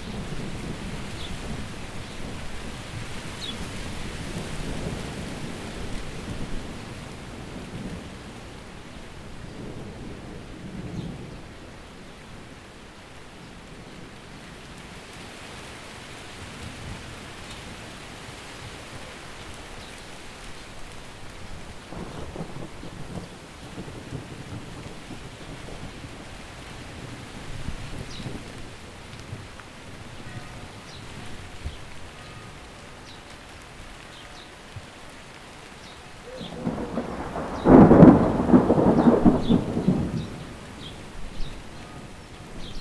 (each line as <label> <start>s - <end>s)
Rain 0.0s - 42.8s